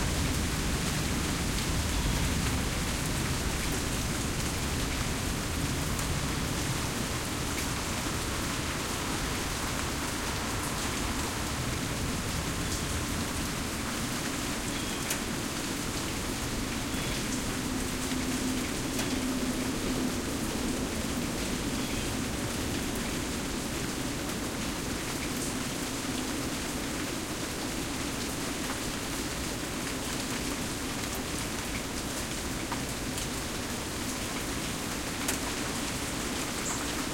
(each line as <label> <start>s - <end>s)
Rain On Porch 0.0s - 37.1s
plane 16.2s - 24.4s